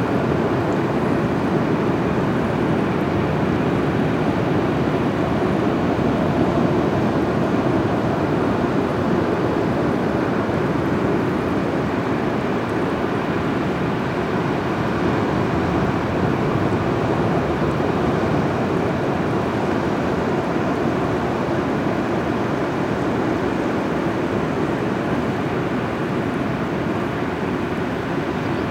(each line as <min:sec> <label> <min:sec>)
0:00.0 Waves 0:28.7